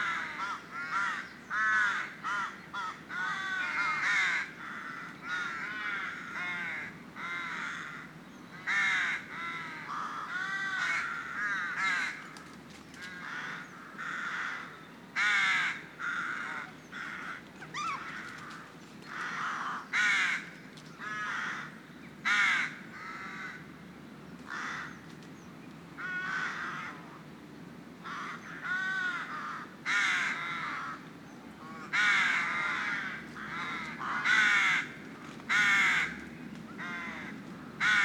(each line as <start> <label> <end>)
17.0 seagulls 20.2